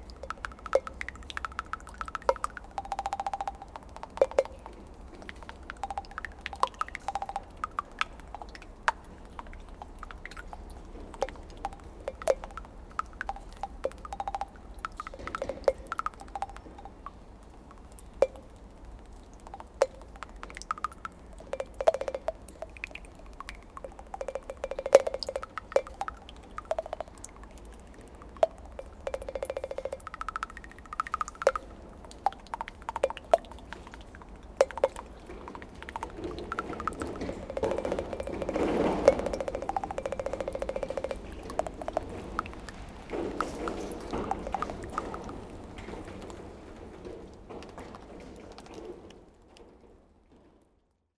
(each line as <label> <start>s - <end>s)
rag makes some strange bubbles below the puddle 0.0s - 46.6s
rain is falling on a very old piece of dead cloth 0.0s - 51.1s